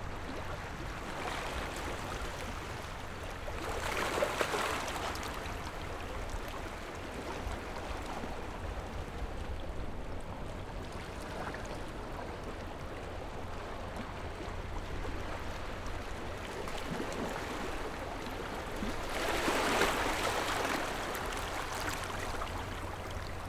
0.0s waves 23.4s

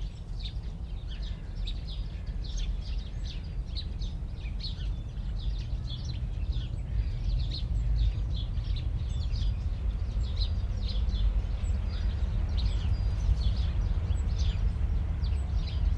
0.0s Magpies very close 15.9s
0.0s distant city 15.9s
0.0s sparrows 15.9s
1.1s crows 2.6s
7.7s Trains pass 15.9s

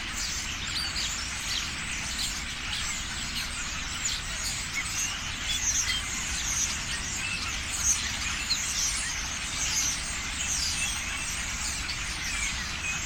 0.0s flock of starlings (Sturnus vulgaris) in a tree chatting 13.0s

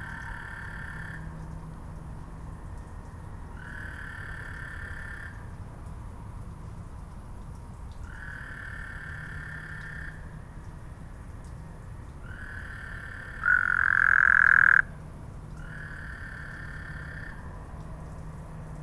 0.0s insects 5.5s
0.0s storm drain 18.8s
8.1s insects 14.9s
12.4s Two toads chatting 14.9s
15.5s insects 17.7s

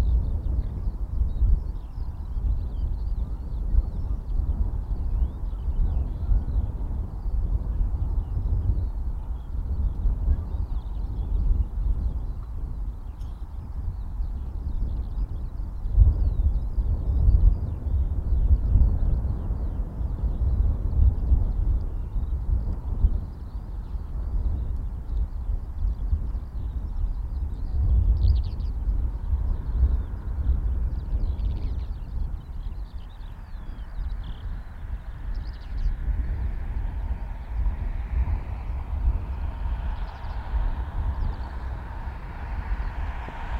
0.0s Birds 43.5s
33.8s cars 43.5s

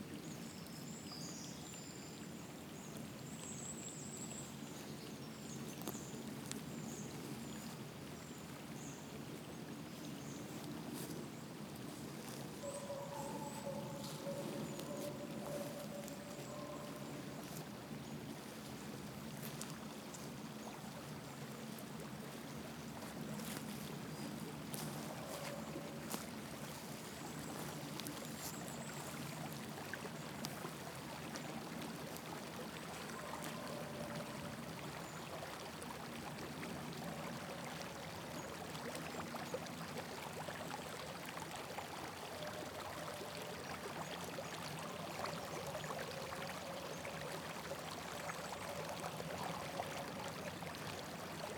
0.0s river 51.5s
0.0s wind 51.5s

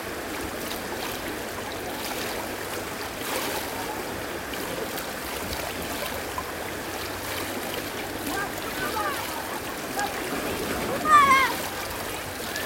0.0s water 12.6s
8.2s children 12.6s

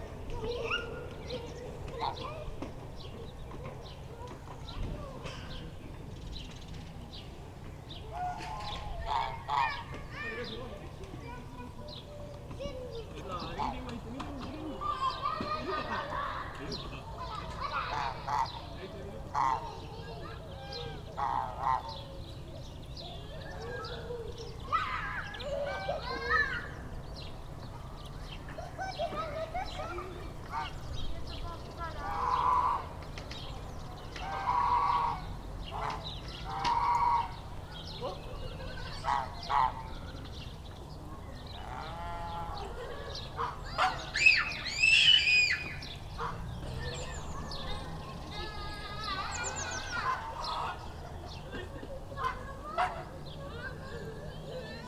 0.0s Children playing in a playground 54.8s
8.2s geese shouting 10.3s
17.6s geese shouting 18.7s
19.3s geese shouting 19.8s
20.6s geese shouting 22.0s
32.0s geese shouting 32.9s
34.1s geese shouting 37.5s
38.5s geese shouting 40.0s
41.6s geese shouting 47.0s
48.8s geese shouting 51.0s
52.2s geese shouting 53.1s

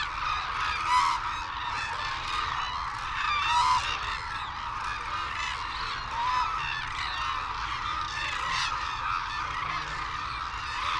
0.0s calls and flight calls from white naped cranes and hooded cranes 10.9s

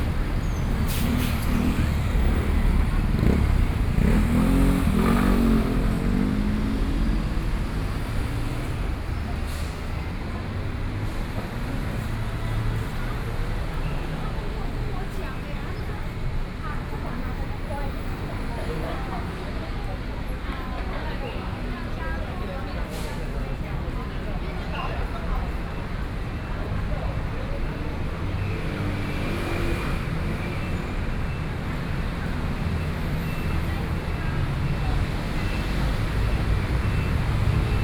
0.0s Traffic Noise 37.8s
0.0s Walking in the street 37.8s

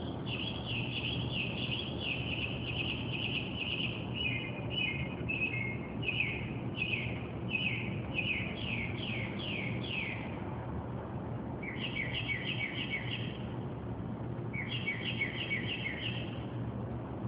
0.0s street noises 17.2s
0.2s bird singing and chirping verious car alarm sounding songs 10.2s
11.6s bird singing and chirping verious car alarm sounding songs 13.4s
14.6s bird singing and chirping verious car alarm sounding songs 16.4s

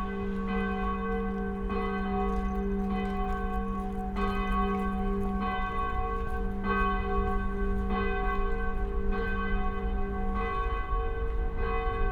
0.0s St Michael church's ringing 12.1s

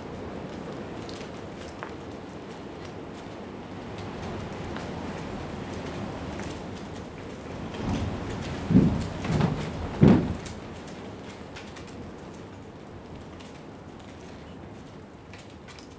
0.0s strips of plastic whipping around in the wind 15.9s
6.4s wind hitting against the side of the container 11.7s

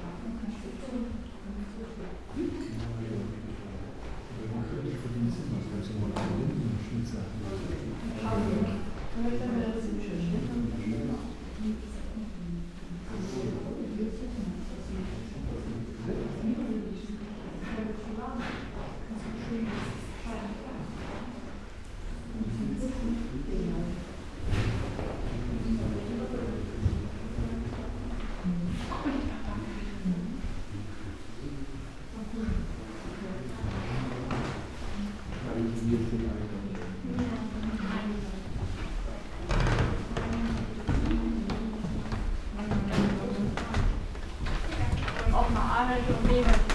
24.1s slow walk through rooms with different kind of wooden floors and parquet 46.7s
39.0s plastic raincoats 46.7s

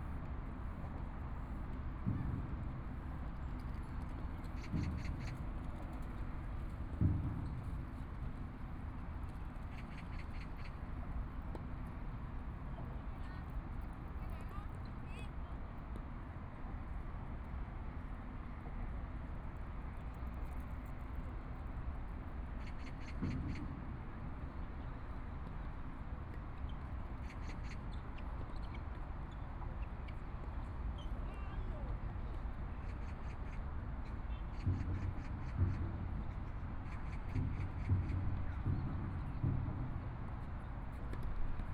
0.0s Pedestrian 41.7s
2.0s Distant drums 3.4s
34.5s Distant drums 41.7s

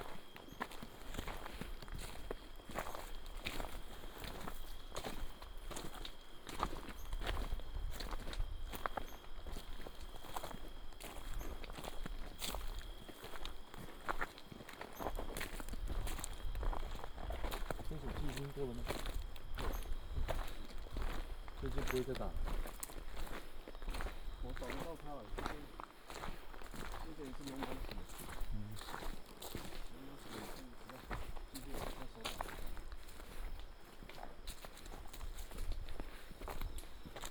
0.0s hunters walking on mountain trail 37.3s

